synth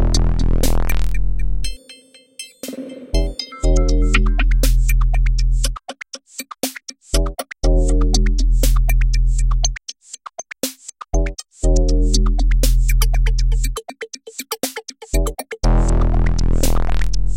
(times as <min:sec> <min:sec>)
0:00.0 0:05.2